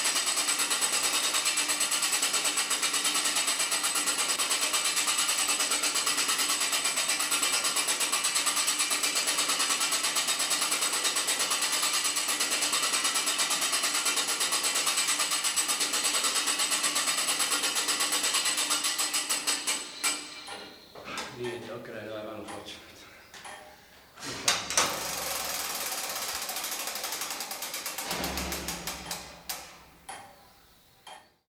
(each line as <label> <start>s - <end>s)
two big wheels turned around manually 24.8s - 29.8s